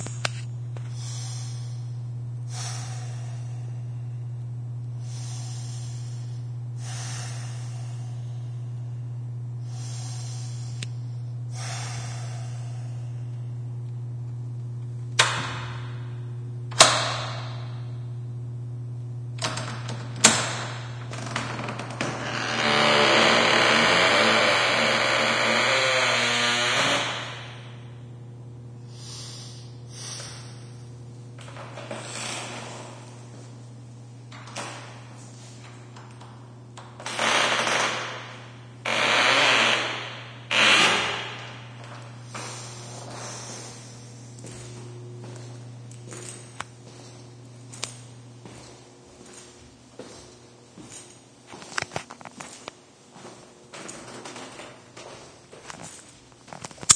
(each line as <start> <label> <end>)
0.8 breathing 4.4
5.0 breathing 13.7
19.4 stall door creak 27.7
28.9 breathing 30.9
31.4 stall door creak 33.1
36.8 stall door creak 42.0
41.8 walking 56.9
42.3 breathing 44.9